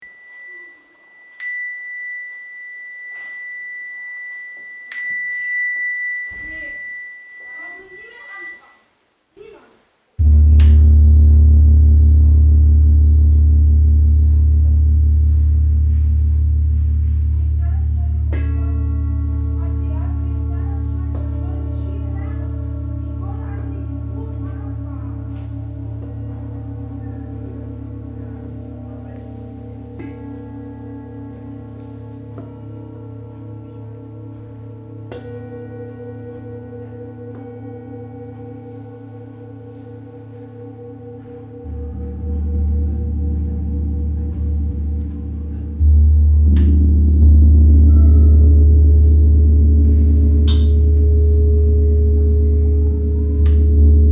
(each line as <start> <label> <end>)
0.0 gongs 8.8
0.0 sound bowls 8.8
0.0 chimes 8.9
10.2 gongs 54.1
10.2 sound bowls 54.1